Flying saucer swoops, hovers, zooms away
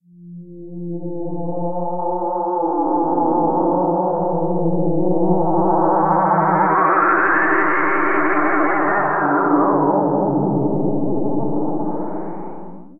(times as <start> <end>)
4.2 12.9